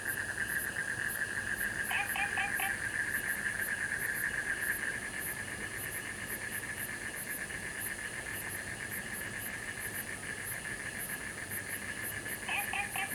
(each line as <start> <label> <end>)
11.6 Insects sounds 13.1
12.5 Frogs chirping 13.1